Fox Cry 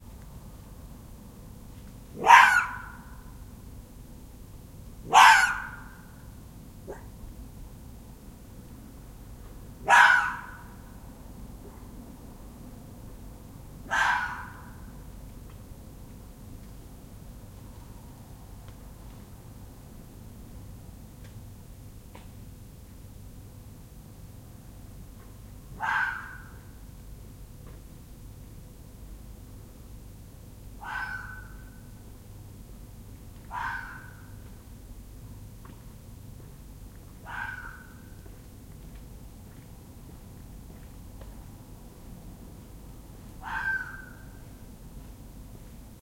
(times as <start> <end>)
2.2 3.2, 5.1 6.1, 9.9 10.7, 13.9 14.8, 25.8 26.7, 30.8 31.8, 33.5 34.3, 37.2 38.1, 43.4 44.4